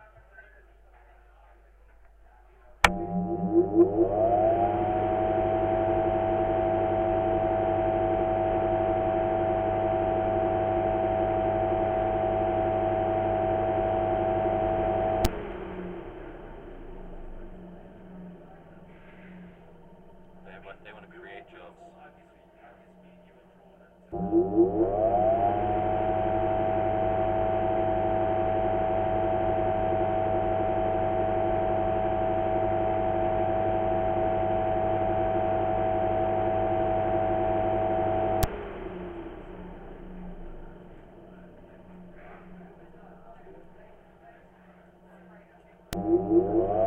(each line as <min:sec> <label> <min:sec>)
0:00.0 chatter in the background 0:02.8
0:02.8 fan accelerating and decelerating 0:46.8
0:39.7 chatter in the background 0:45.9